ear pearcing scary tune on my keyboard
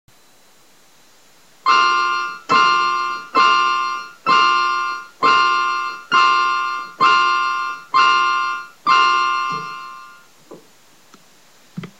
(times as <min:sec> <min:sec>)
0:01.7 0:10.2